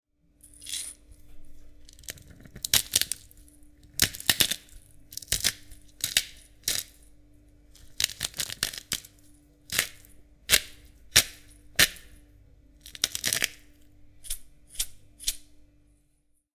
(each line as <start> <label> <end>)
0.4 pepper mill 7.1
7.7 pepper mill 12.2
12.8 pepper mill 15.5